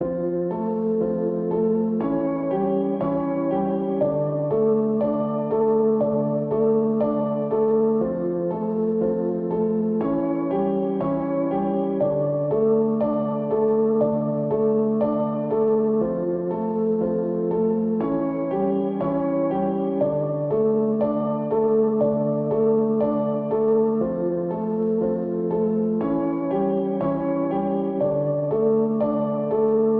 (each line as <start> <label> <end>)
0.0 piano 29.9